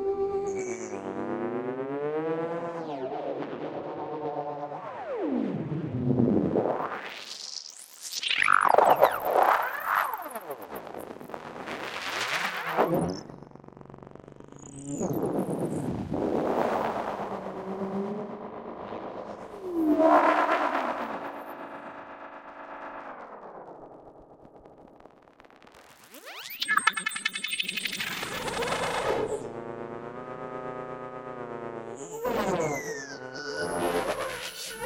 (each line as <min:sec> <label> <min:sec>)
0:26.2 drone 0:34.8